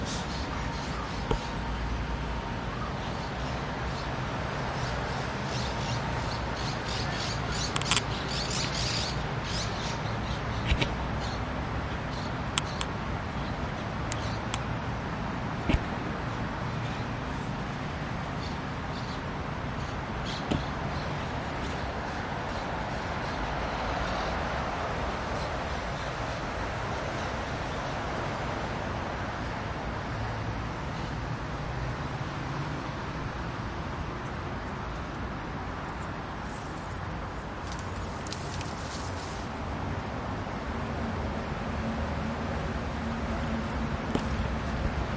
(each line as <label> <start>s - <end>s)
Birds 0.0s - 28.6s
Traffic 0.0s - 45.1s